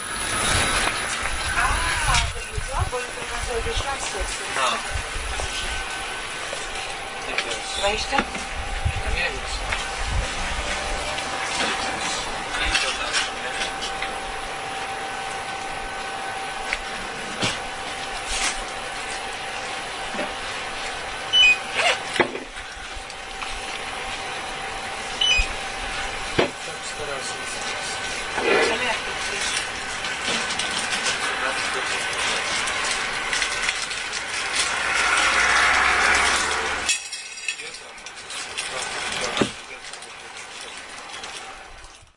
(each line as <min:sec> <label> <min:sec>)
0:00.0 refrigerators are swooshing 0:13.6
0:00.0 two people are buying Cola 0:42.1
0:14.2 refrigerators are swooshing 0:36.9
0:21.3 beeping 0:21.8
0:25.1 beeping 0:25.7